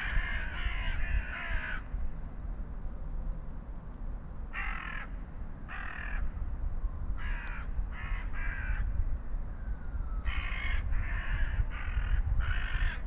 0.0s crows on their regular path 2.2s
0.0s wind 13.0s
4.4s crows on their regular path 6.5s
7.1s crows on their regular path 13.0s

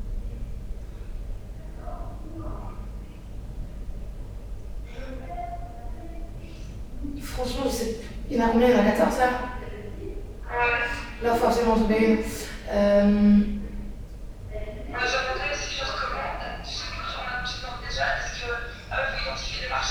7.2s girl discussing 10.2s
10.9s girl discussing 13.6s
14.5s skype communication 19.9s

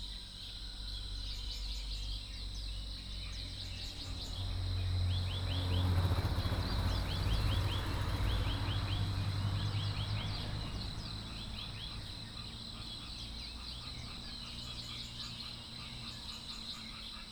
0.0s Birdsong 17.3s
3.9s Frogs chirping 17.3s

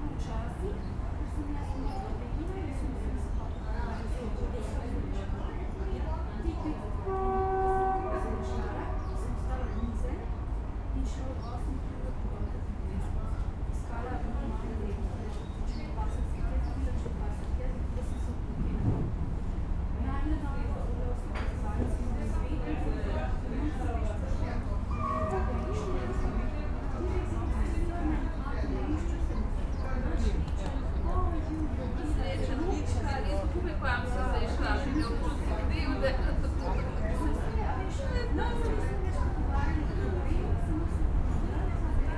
0.0s city sounds 42.1s
6.6s horns of trains 9.7s

